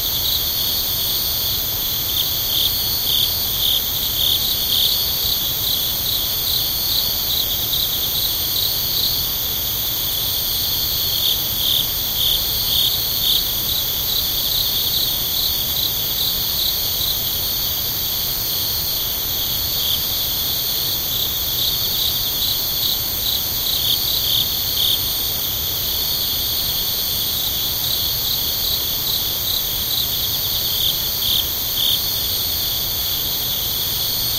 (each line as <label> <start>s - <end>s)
crickets/cicadas/bugs 0.0s - 34.3s